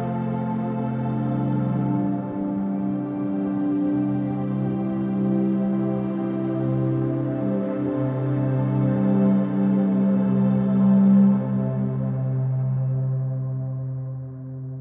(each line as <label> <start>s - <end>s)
dreamlike music 0.0s - 14.8s